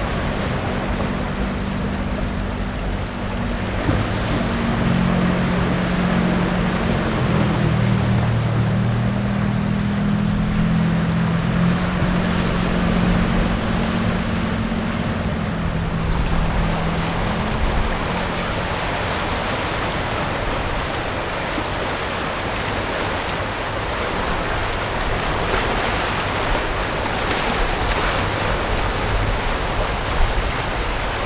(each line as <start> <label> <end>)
0.0 waves 31.2